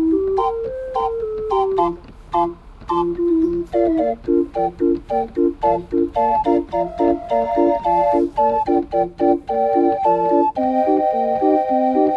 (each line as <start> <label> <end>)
0.0 old organ grinder 12.1